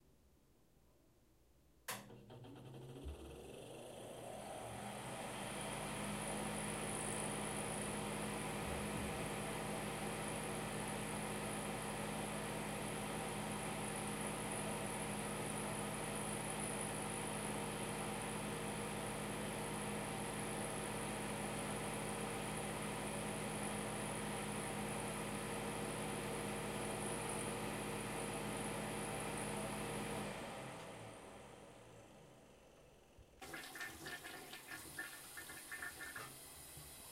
1.9s click 2.2s
1.9s Bathroom fan 37.1s

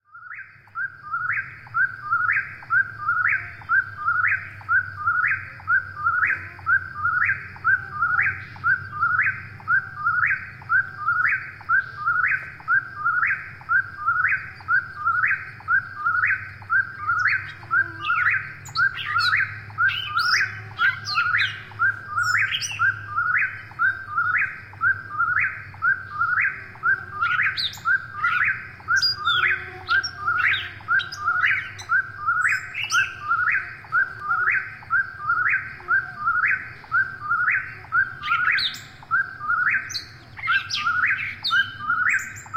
0.0s Eastern Towhee 42.5s
0.1s American Woodcock 42.5s
0.1s Gray Catbird 42.5s
0.4s traffic noise 42.5s

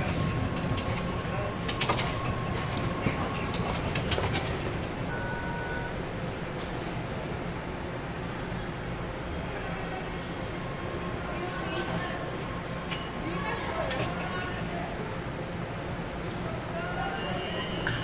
0.0s traffic 18.0s
9.4s people 18.0s

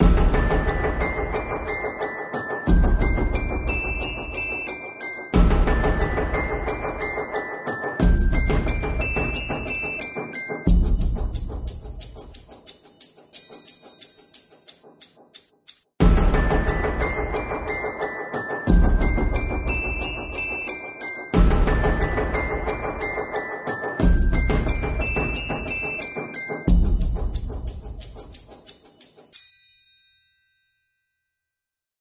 0.0s glockenspiel 15.2s
0.0s triangle 31.2s
16.0s glockenspiel 31.6s

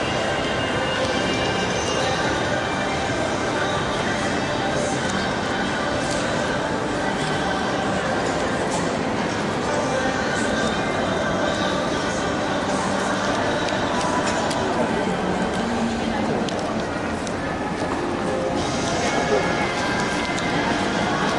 0.0s Shopping Mall noise 21.3s

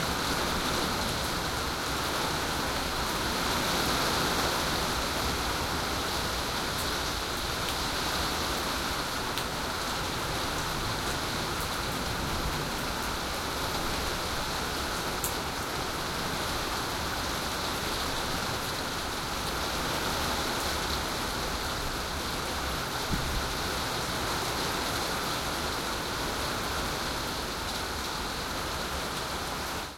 0.0s Medium tropical rain 29.9s

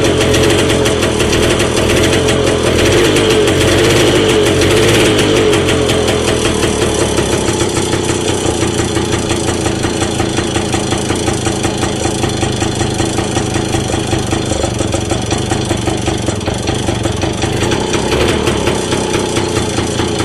0.0s Sachs engine of a 1938 light motorbike 20.2s
0.0s flooding of the carburettor 20.2s
0.0s pedaling the bike on its stand 20.2s

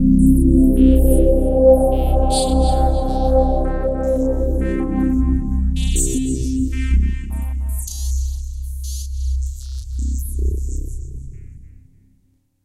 0.0s filter sweep 8.4s

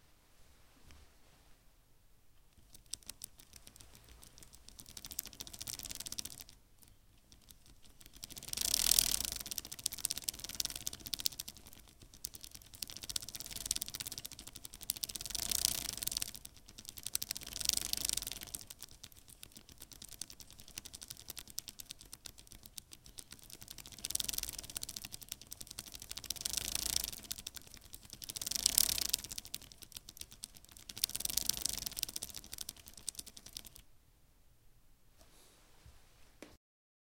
2.9s bicycle chain 6.6s
7.4s bicycle chain 33.8s

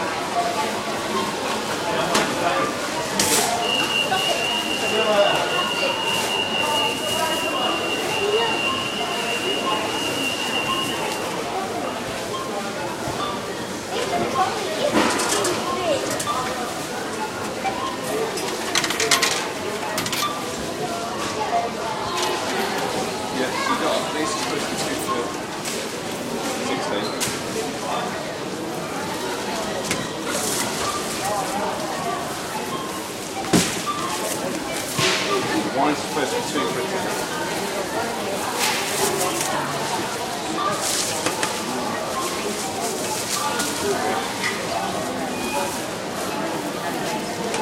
0.0s people talking 47.6s
0.0s self-serve checkouts 47.6s
0.1s items being scanned 47.6s
3.4s several announcements 12.0s
3.6s security alarms 11.4s

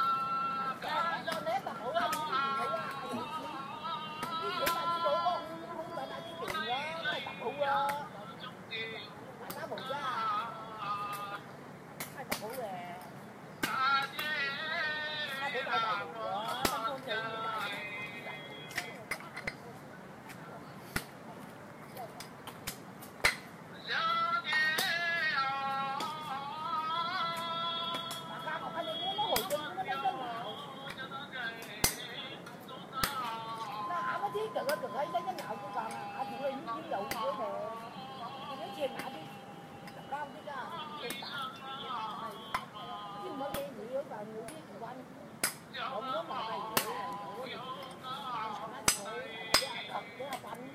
0.0s small, portable radio playing 11.5s
0.0s female garden workers 50.7s
13.7s small, portable radio playing 19.0s
45.8s small, portable radio playing 50.7s

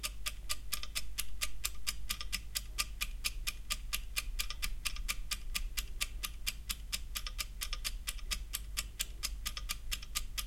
0.0s egg timer 10.4s

